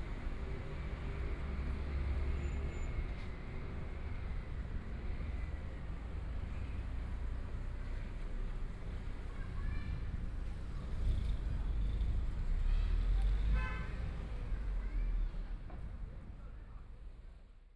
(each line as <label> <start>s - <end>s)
Walking in the small streets 0.0s - 17.7s